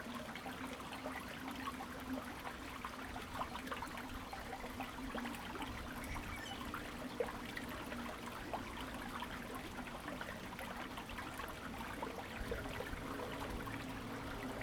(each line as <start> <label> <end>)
0.0 Watercourse below the ground 14.6